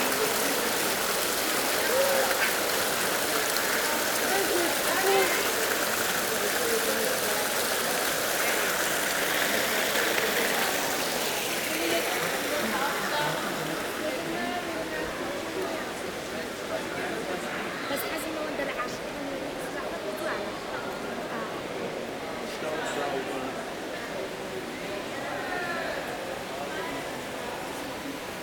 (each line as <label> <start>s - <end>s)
fountain 0.0s - 28.4s